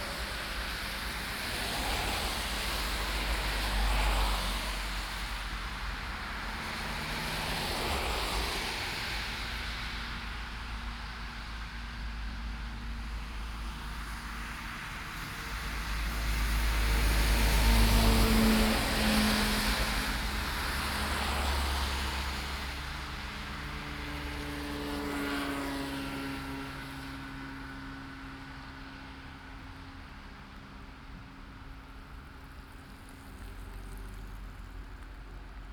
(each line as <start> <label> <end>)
0.0 traffic 35.7